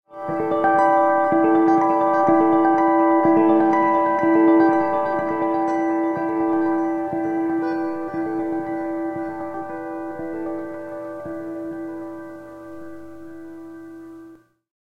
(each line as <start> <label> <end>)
0.0 guitar 14.6